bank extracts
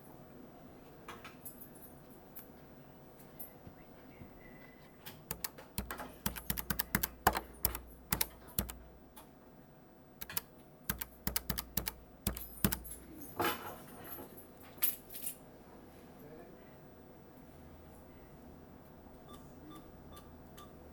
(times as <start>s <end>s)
5.3s 9.0s, 10.2s 13.2s